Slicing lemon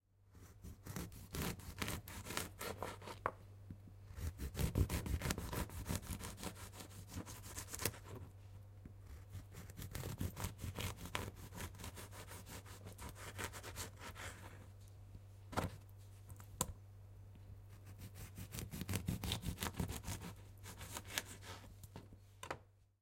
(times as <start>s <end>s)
0.3s 3.3s, 4.1s 8.3s, 9.0s 14.6s, 17.7s 21.7s